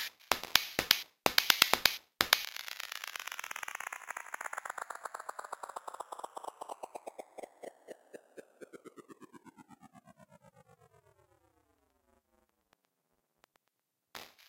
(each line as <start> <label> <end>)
0.0 simple hi-hat loop 2.5